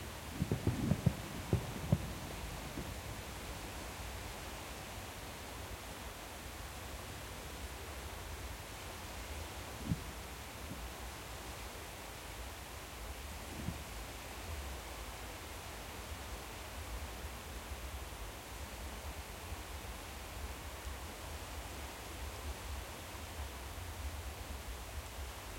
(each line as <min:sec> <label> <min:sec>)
0:00.2 fireworks 0:04.2